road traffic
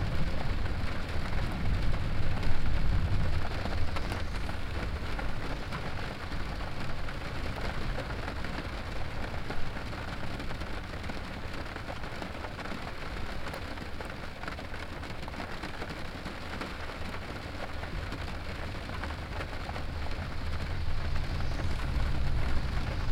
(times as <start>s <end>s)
0.0s 11.5s, 17.4s 23.1s